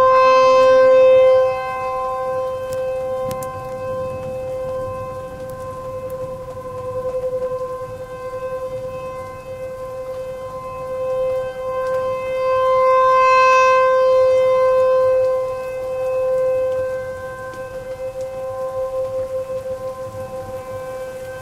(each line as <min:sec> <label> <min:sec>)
0:00.0 hail 0:21.4
0:00.0 rain 0:21.4
0:00.0 tornado warning siren going off 0:21.4
0:00.0 wind 0:21.4